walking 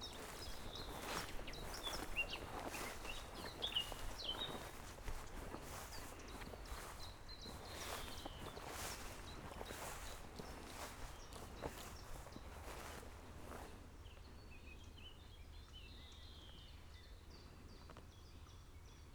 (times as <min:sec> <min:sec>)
0:00.0 0:13.8